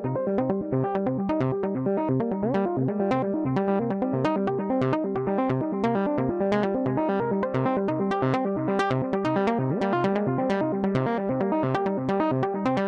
analog synth sequence (with delay) 0:00.0 - 0:12.8

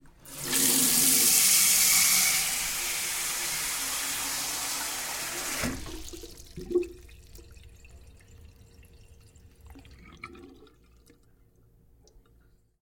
sink water 0:00.0 - 0:11.4
water draining 0:00.0 - 0:11.3

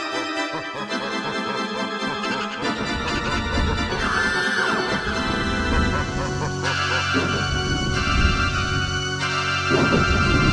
demonic laughter 0:00.0 - 0:10.5
spooky music 0:00.0 - 0:10.5
screams 0:03.9 - 0:10.5

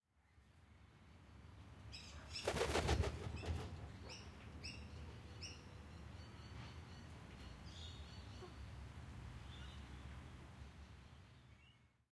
Magpie WingsFlapping 0:02.4 - 0:03.7

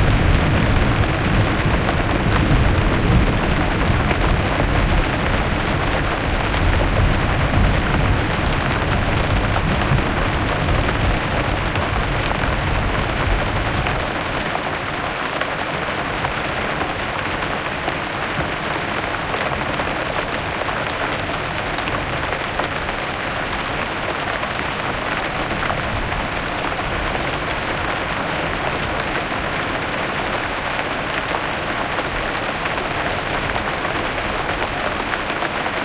thunder 0:00.0 - 0:14.3
rain 0:00.0 - 0:35.8
water running off the roof and splashing into flowerbeds 0:00.0 - 0:35.8

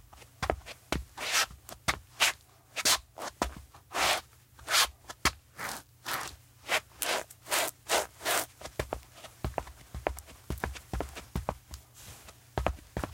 footstep concrete walking running scuff 0:07.0 - 0:13.1

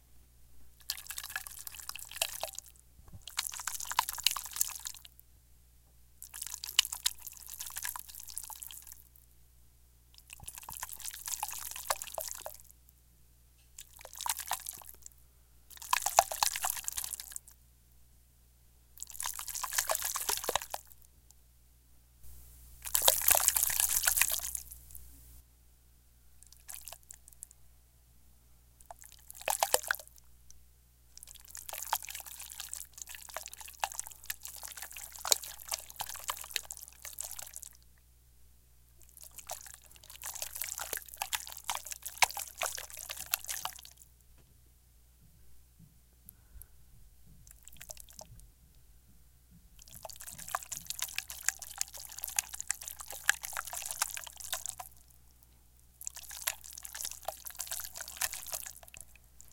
Bowl of Jello being sloshed around 0:00.8 - 0:05.2
Bowl of Jello being sloshed around 0:06.2 - 0:09.1
Bowl of Jello being sloshed around 0:10.2 - 0:12.7
Bowl of Jello being sloshed around 0:13.8 - 0:15.1
Bowl of Jello being sloshed around 0:15.7 - 0:17.6
Bowl of Jello being sloshed around 0:19.0 - 0:21.0
Bowl of Jello being sloshed around 0:22.8 - 0:25.0
Bowl of Jello being sloshed around 0:26.4 - 0:27.4
Bowl of Jello being sloshed around 0:28.8 - 0:30.2
Bowl of Jello being sloshed around 0:31.2 - 0:37.8
Bowl of Jello being sloshed around 0:39.0 - 0:44.1
Bowl of Jello being sloshed around 0:47.4 - 0:48.4
Bowl of Jello being sloshed around 0:49.8 - 0:55.2
Bowl of Jello being sloshed around 0:55.9 - 0:59.5

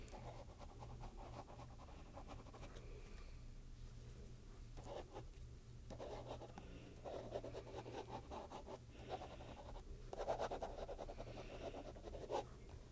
Writing something in a piece of paper with a pen 0:04.8 - 0:05.2
Writing something in a piece of paper with a pen 0:05.9 - 0:12.5

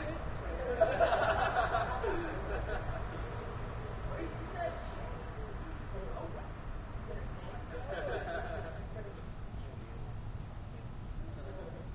yelling laughing 0:00.5 - 0:03.3
yelling laughing 0:07.7 - 0:09.0

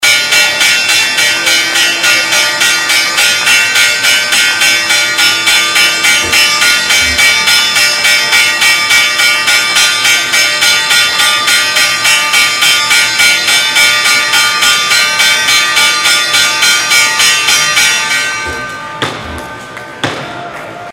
Bell 0:00.0 - 0:20.1

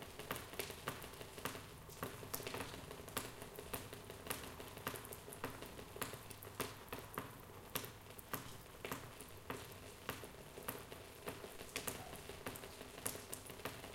water drops keep falling on a plastic shelter 0:00.0 - 0:13.9

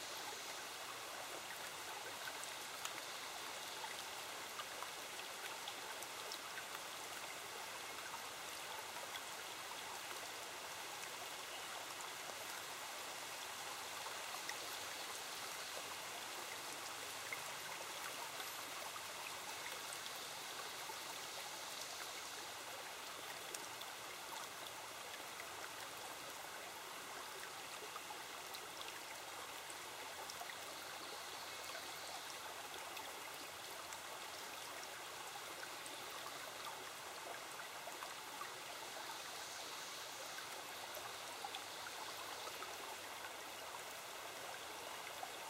stream 0:00.0 - 0:45.4
crickets 0:38.0 - 0:45.3

